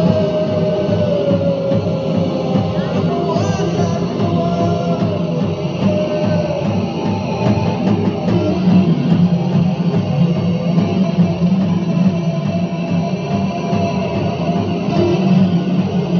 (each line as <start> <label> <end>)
0.0 one song of their mood driving music 16.1